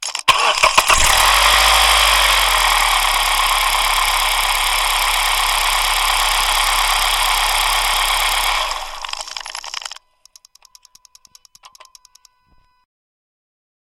0.0s Engine Start 10.0s

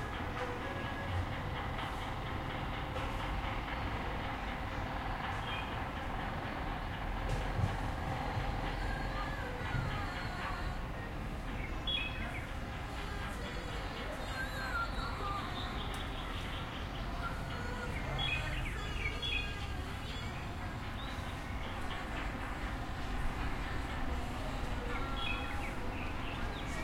0.0s distant construction 26.8s
0.0s traffic 26.8s
7.3s pair of voices singing 26.8s

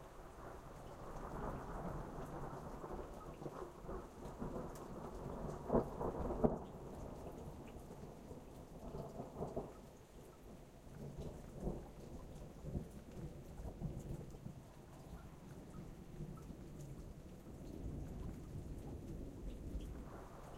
0.0s rain 20.5s
0.4s Distant thunder 9.8s

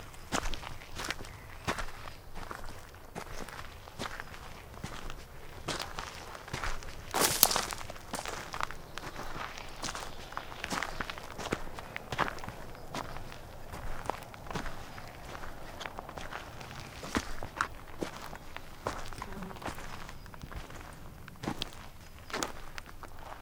0.0s footsteps recorded on a crunchy forest ground 23.4s

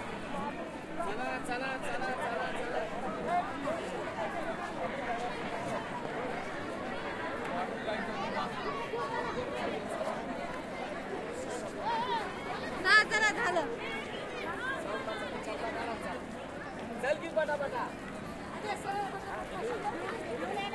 0.0s outdoor crowd 20.7s

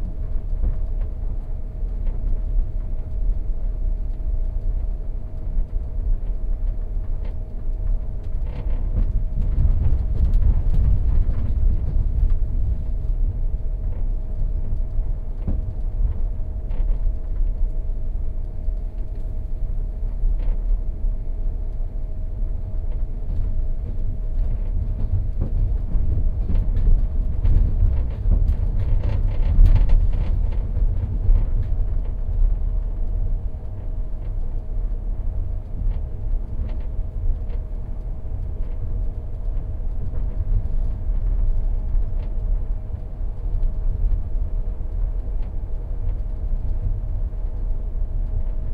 22.9s rattling and creaking of various objects 33.3s

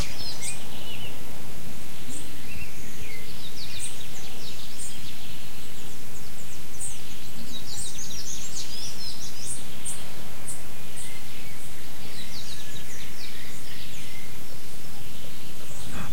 0.0s Birds singing 16.1s

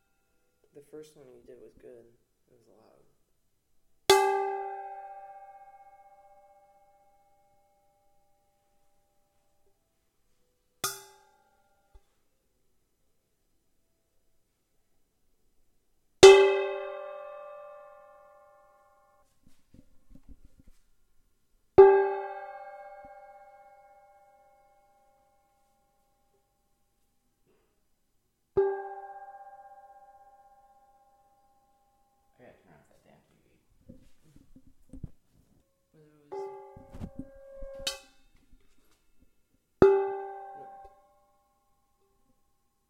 4.1s metal bowl being tapped, scrapped, and hit 7.8s
10.8s metal bowl being tapped, scrapped, and hit 12.1s
21.8s metal bowl being tapped, scrapped, and hit 25.4s
28.6s metal bowl being tapped, scrapped, and hit 31.7s
36.3s metal bowl being tapped, scrapped, and hit 42.3s

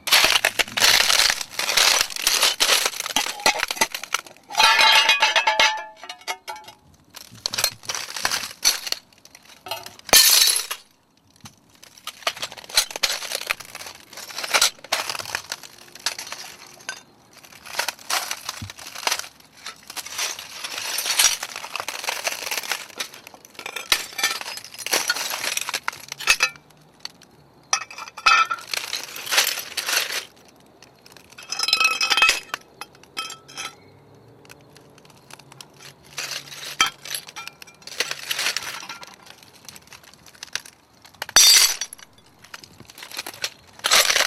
0.0s footsteps on broken glass 33.8s
34.8s footsteps on broken glass 44.2s

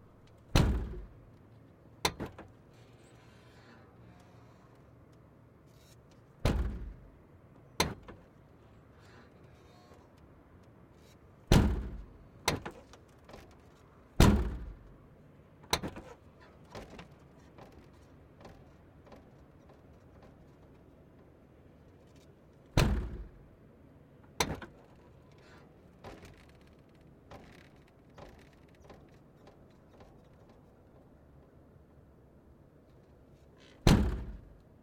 0.3s trunk being opened and closed 1.2s
6.4s trunk being opened and closed 7.1s
11.5s trunk being opened and closed 13.6s
14.2s trunk being opened and closed 15.0s
15.7s trunk being opened and closed 19.4s
22.1s trunk being opened and closed 23.5s
24.3s trunk being opened and closed 30.7s
33.6s trunk being opened and closed 34.6s

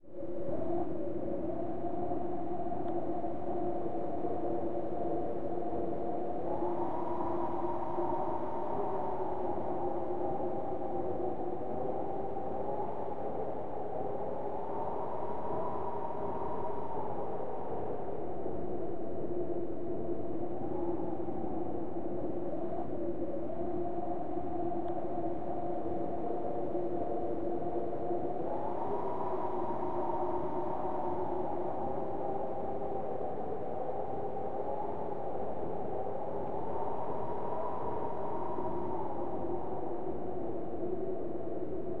0.0s Wind - Synth 42.0s

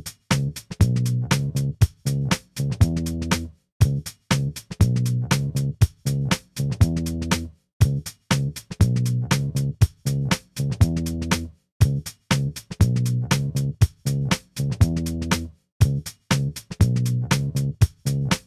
0.0s bass 18.4s
0.0s drums 18.4s

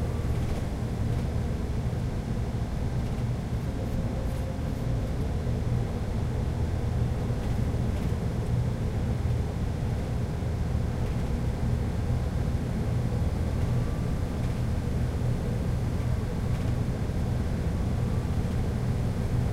0.0s Sound inside bus 19.5s

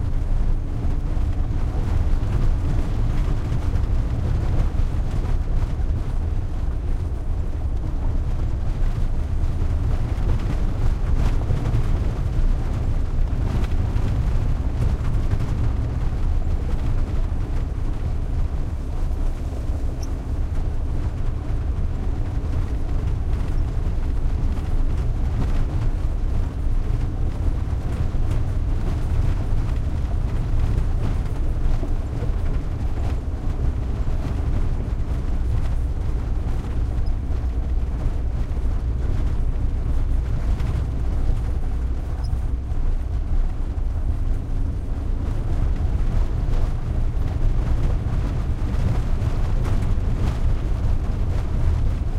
0.0s truck van int driving medium speed bumpy dirt road3 52.1s

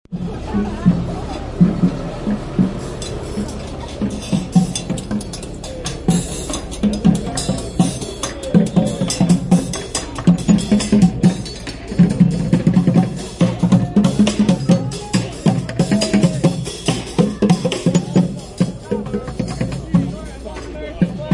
0.1s trash-can percussion band 21.3s

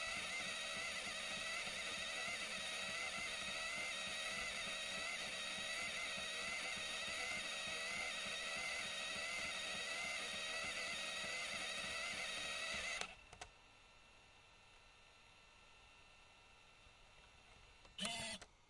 0.0s rewind 13.2s
0.0s working Sony CCD-TR55E Video8 Camcorder 16.3s
17.2s working Sony CCD-TR55E Video8 Camcorder 18.6s
18.0s rewind 18.5s
18.0s eject 18.5s

